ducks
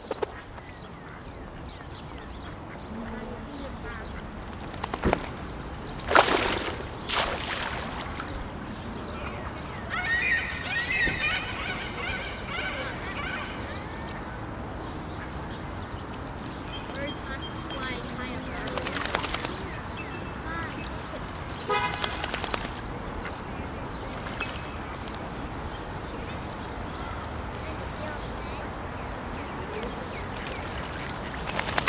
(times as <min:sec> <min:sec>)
0:00.0 0:05.4, 0:16.9 0:25.0